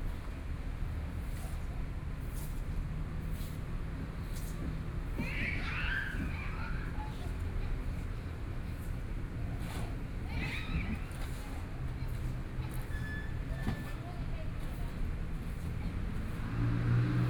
14.2s Traffic Sound 17.2s

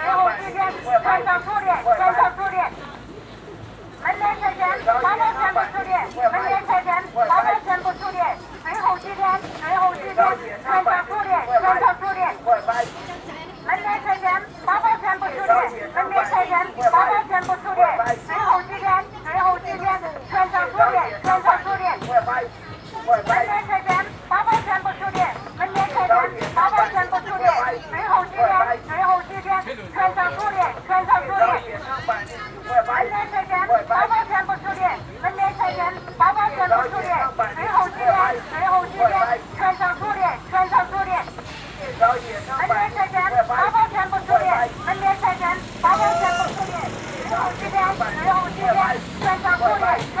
0.0s Sound commercials on stalls 50.2s

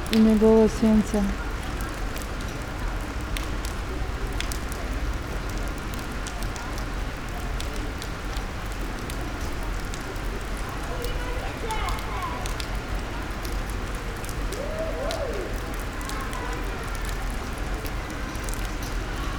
0.0s raindrops 19.3s

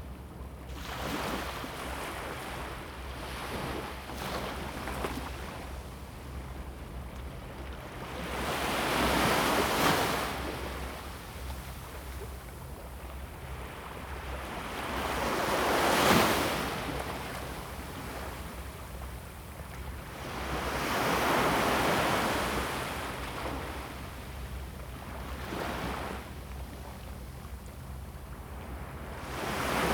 0.0s waves 29.9s

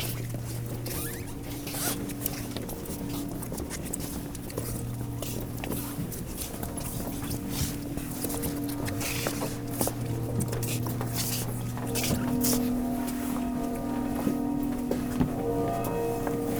7.7s Easter procession 16.5s

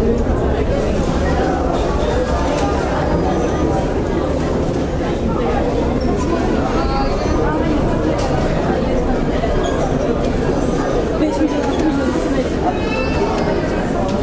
0.0s waiting crowd 14.2s

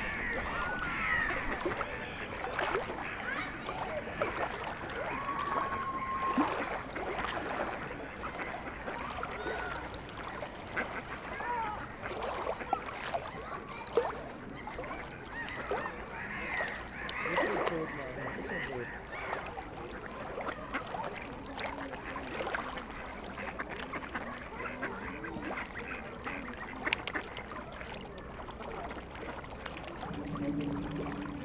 0.0s children feeding ducks and swans 31.4s

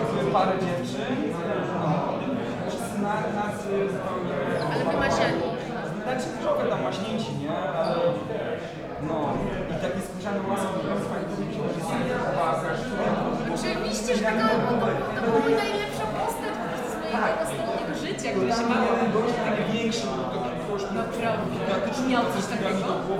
0.0s people talking 23.1s

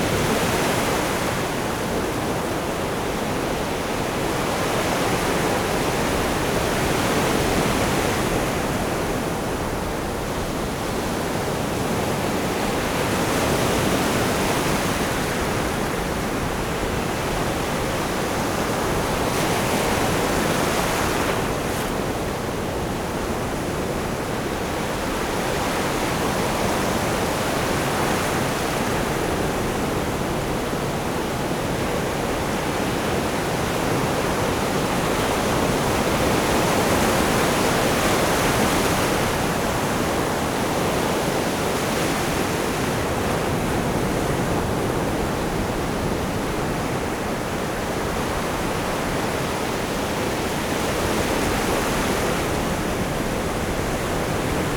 0.0s Waves in the sea 54.7s

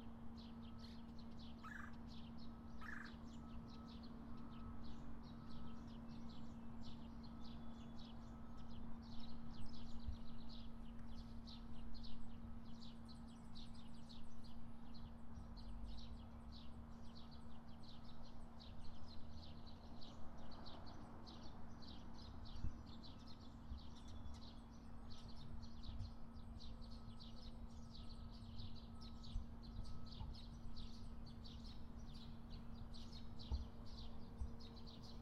0.0s traffic on the nearby road 35.2s
0.0s birds 35.2s

